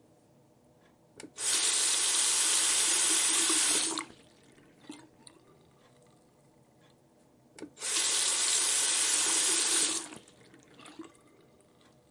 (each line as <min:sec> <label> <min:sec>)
0:01.3 Turning On and Off The Sink 0:04.1
0:07.6 Turning On and Off The Sink 0:10.2